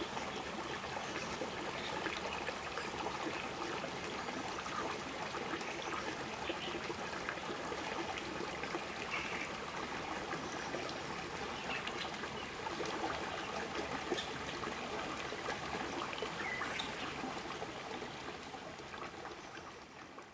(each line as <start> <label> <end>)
0.0 Stream 20.3